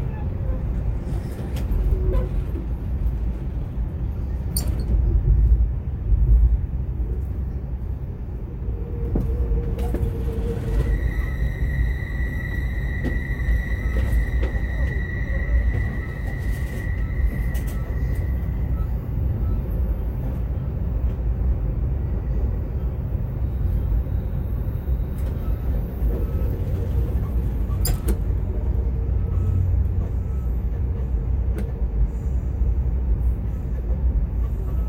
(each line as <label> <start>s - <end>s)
train 0.0s - 34.8s